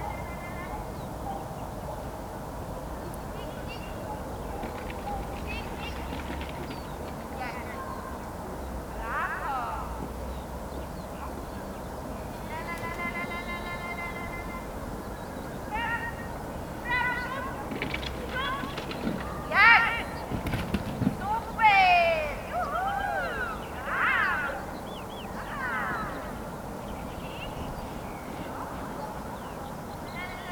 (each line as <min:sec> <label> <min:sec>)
0:21.3 her enthusiastic shouts get reverberated of nearby walls 0:24.7